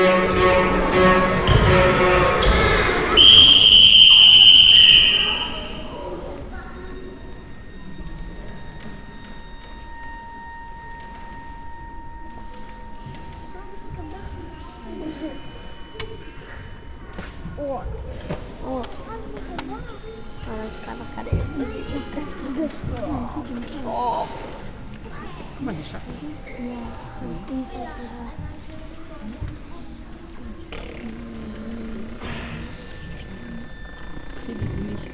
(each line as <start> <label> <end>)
0.0 music theatre dance piece for children 7.3
0.0 sound of the mostly young audience 35.1